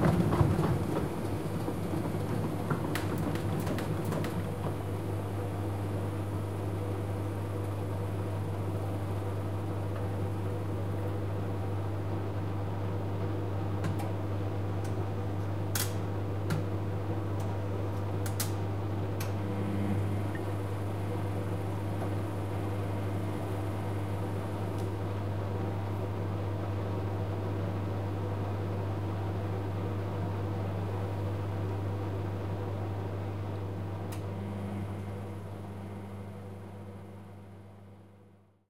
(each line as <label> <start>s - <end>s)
Washing mashine, centrifugue 0.0s - 13.8s
Washing mashine, centrifugue 17.0s - 27.8s